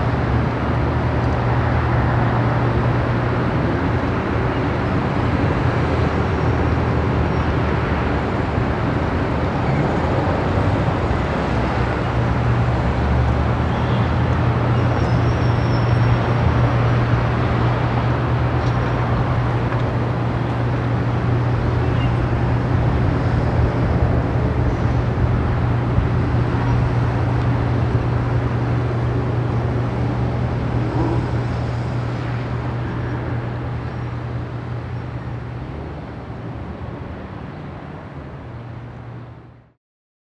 traffic 0.0 - 39.8

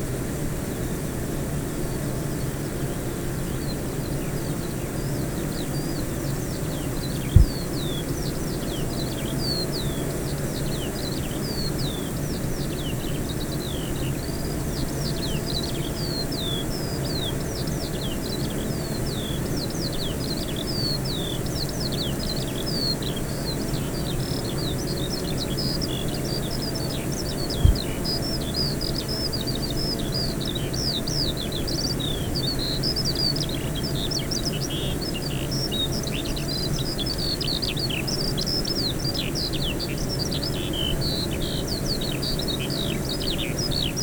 bee hives 0.0 - 44.0
skylark 3.7 - 44.0

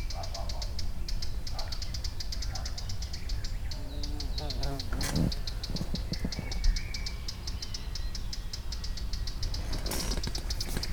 birds chirping on the trees 0.0 - 10.9
insects buzzing 3.6 - 6.7

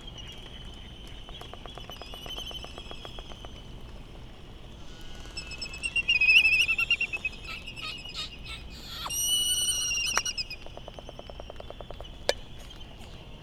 laysan calls 1.4 - 13.4
white tern calls 4.8 - 12.8

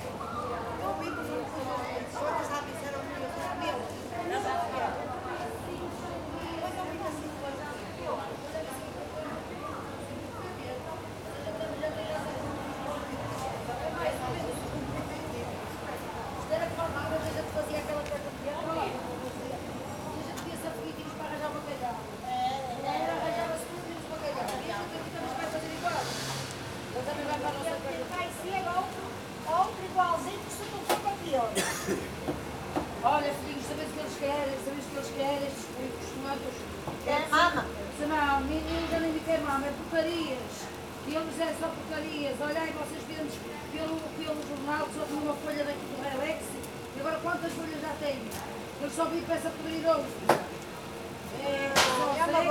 conversations at the market 0.0 - 52.5
short walk around the stalls 0.0 - 52.5
German couple shopping for groceries 27.0 - 52.5

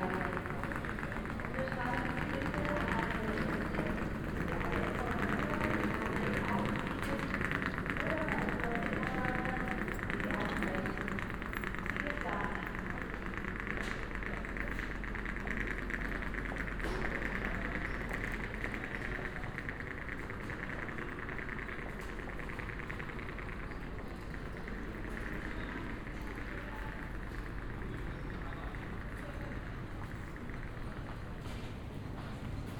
walk 0.1 - 32.7

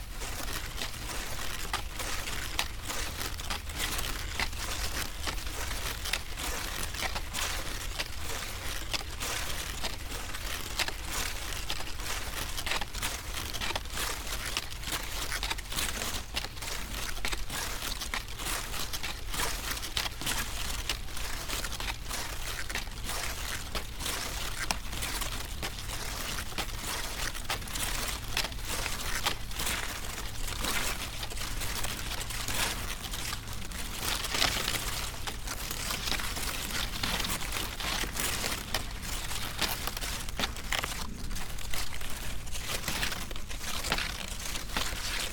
playing with few dry corn stalks 0.0 - 45.3

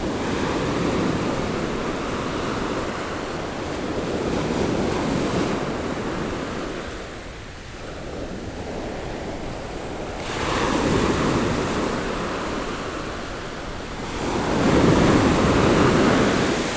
the waves 0.0 - 16.7

